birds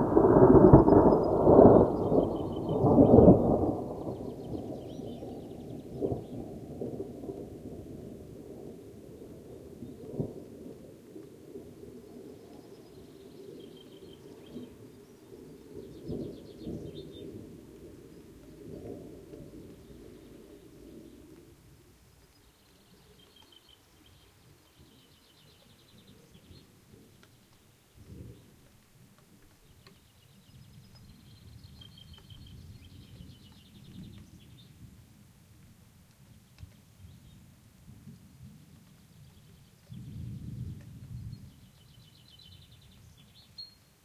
0.6s 6.5s, 12.4s 21.5s, 22.1s 28.7s, 29.5s 34.8s

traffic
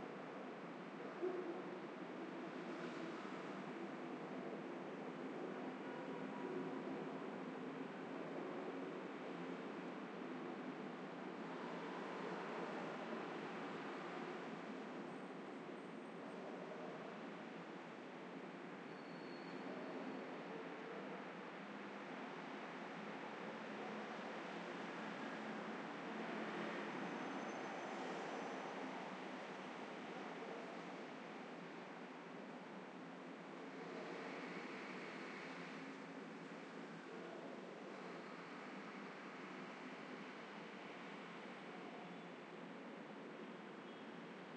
19.6s 44.5s

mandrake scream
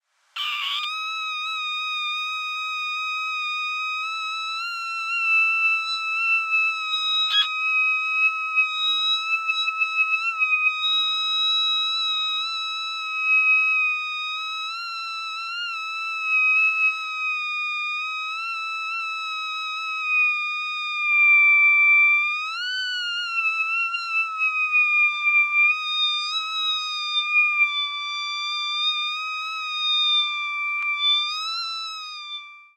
0.4s 14.8s

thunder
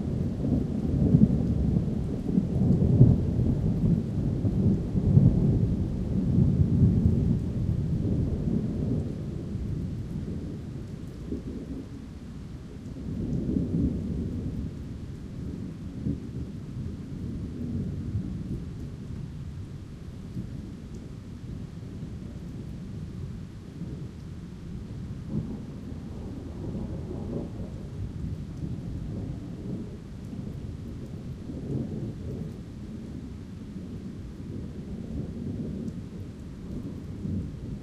13.0s 18.8s, 25.2s 37.8s

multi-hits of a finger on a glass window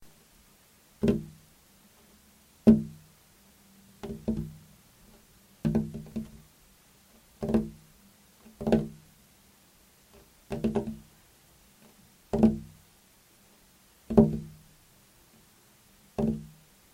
1.0s 1.4s, 2.7s 3.1s, 4.0s 4.6s, 5.6s 6.4s, 7.4s 7.9s, 8.6s 9.0s, 10.2s 11.1s, 12.3s 12.8s, 14.1s 14.6s, 16.2s 16.6s

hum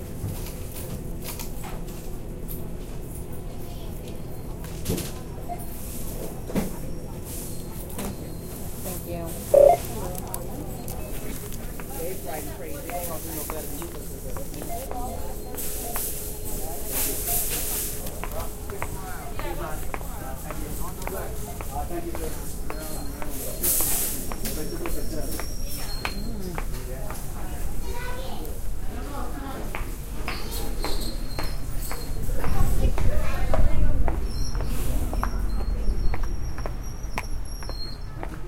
9.6s 9.9s

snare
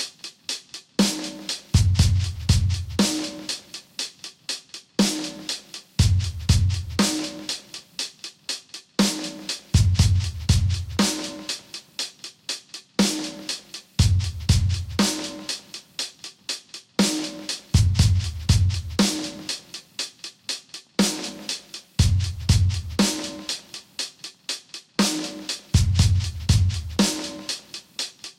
0.0s 2.4s, 3.0s 5.8s, 7.0s 9.8s, 11.0s 13.8s, 15.0s 18.4s, 19.0s 21.9s, 23.0s 25.8s, 27.0s 28.3s

